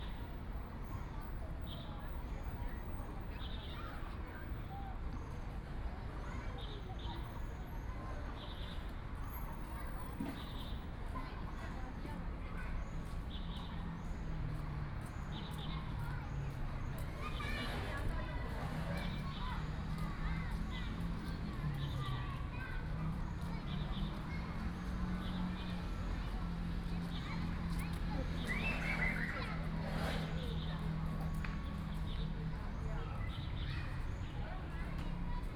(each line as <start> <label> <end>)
0.0 Kids and parents 35.5
0.0 Traffic Sound 35.5
12.6 Birds sound 34.8